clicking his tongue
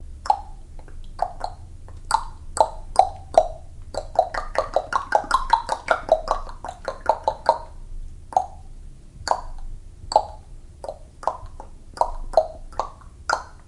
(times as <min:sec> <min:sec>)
0:00.2 0:07.7